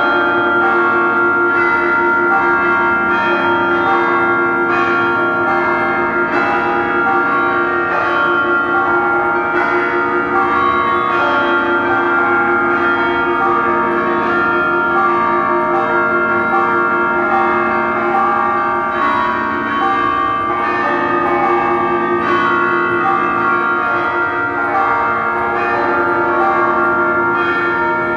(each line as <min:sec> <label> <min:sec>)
0:00.0 chimes 0:28.1